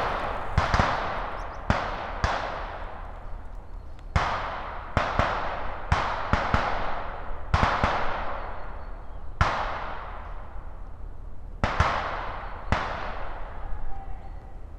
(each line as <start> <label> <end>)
0.0 Military training exercises 3.0